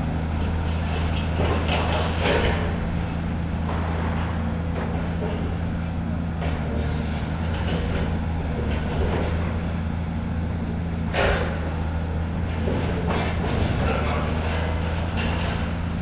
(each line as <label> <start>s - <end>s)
excavator with grab breaks up parts of the building 0.6s - 2.8s
excavator with grab breaks up parts of the building 11.1s - 11.9s
excavator with grab breaks up parts of the building 12.5s - 16.0s